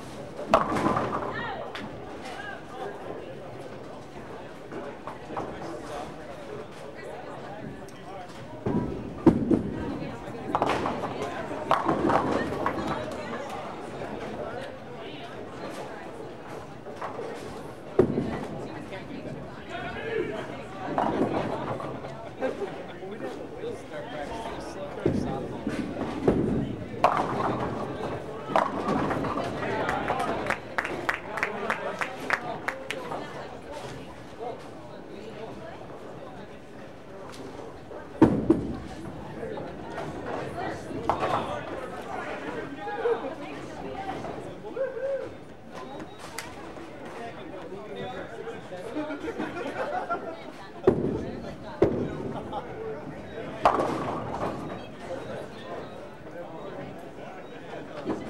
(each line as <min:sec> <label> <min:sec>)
0:00.0 Appreciative bowlers 0:58.2